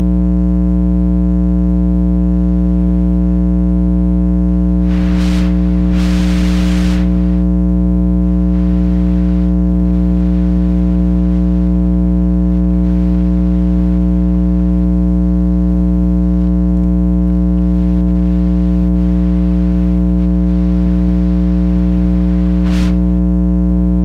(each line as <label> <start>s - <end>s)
hum 0.0s - 24.0s
changing radio station 4.8s - 7.5s